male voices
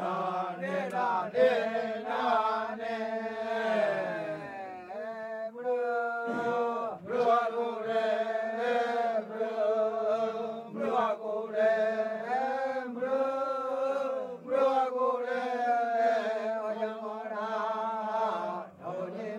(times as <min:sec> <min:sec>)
0:03.6 0:07.2